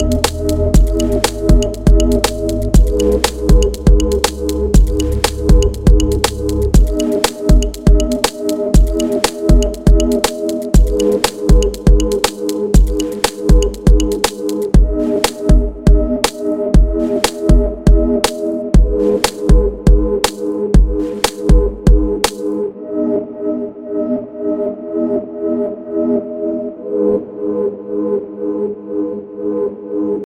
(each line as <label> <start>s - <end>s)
Classic Edm 0.0s - 22.4s